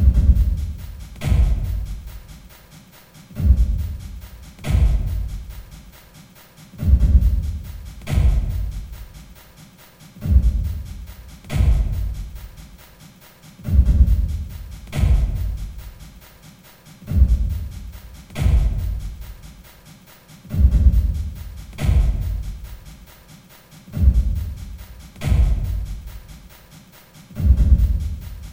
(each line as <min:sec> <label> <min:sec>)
0:00.0 Drum loop 0:28.5